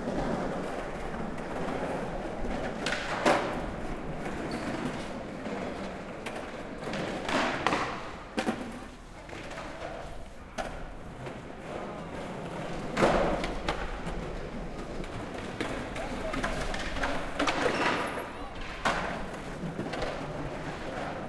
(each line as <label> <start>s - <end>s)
Skaters practising 0.0s - 21.2s